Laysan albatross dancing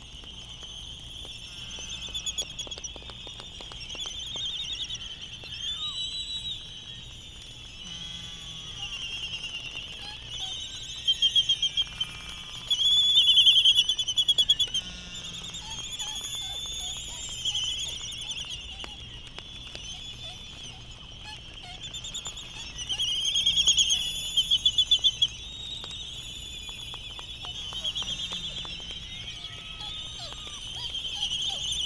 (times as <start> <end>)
15.1 25.3, 25.9 31.8